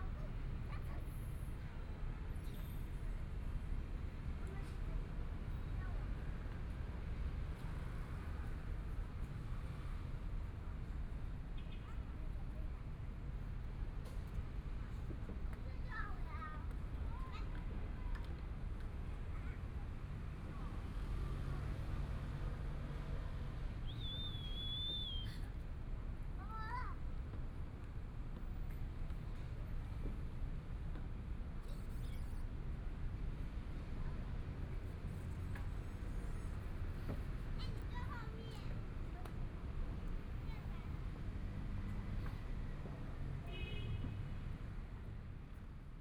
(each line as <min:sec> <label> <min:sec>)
0:13.5 Traffic Sound 0:46.0